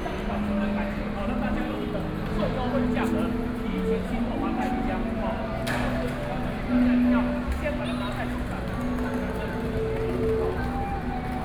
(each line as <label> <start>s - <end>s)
crowd 0.0s - 11.4s
walking in the Street 0.0s - 11.4s
street music 4.1s - 11.4s